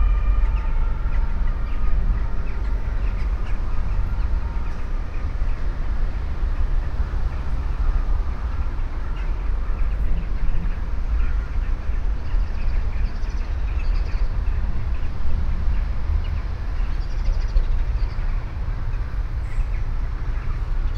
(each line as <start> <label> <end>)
0.0 ambulance with horn passing by 12.0
0.0 big groups of crows that gather in a tree 20.9
0.0 distant traffic above 20.9